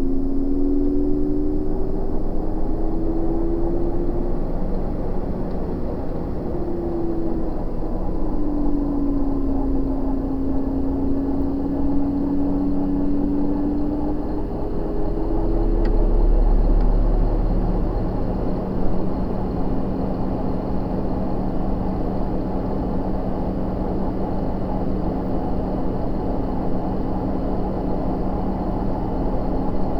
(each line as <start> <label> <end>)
0.0 portable ac 29.9